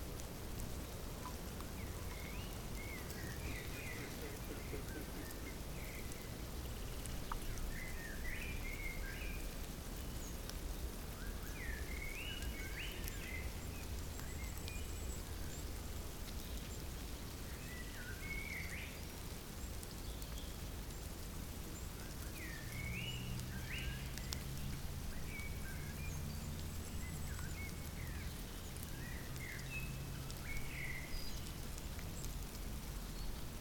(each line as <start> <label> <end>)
0.0 Ants make a rustling noise 33.6